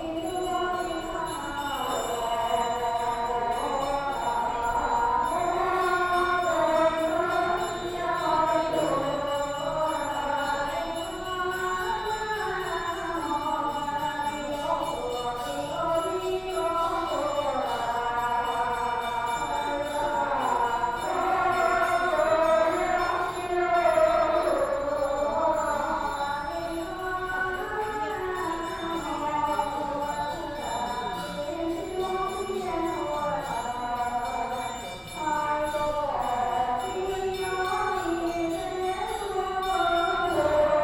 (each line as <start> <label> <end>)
0.0 Walking inside the temple 40.8